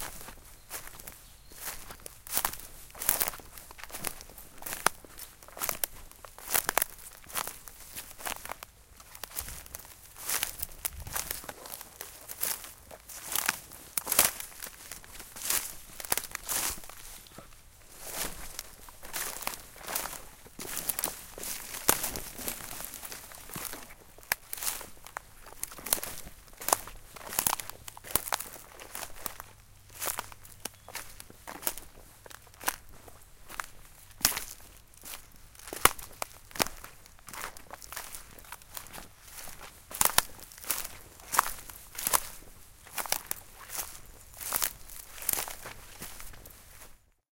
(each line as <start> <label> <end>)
0.0 footsteps in twigs, bracken and other dry foliage 47.2